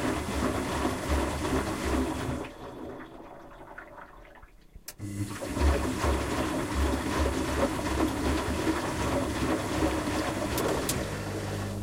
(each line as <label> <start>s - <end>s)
washing machine doing its work 0.0s - 11.8s